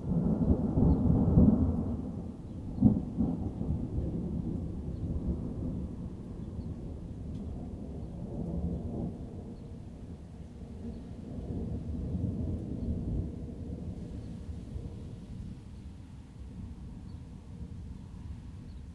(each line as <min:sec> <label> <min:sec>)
0:00.0 thunder 0:15.8
0:00.0 rain 0:18.9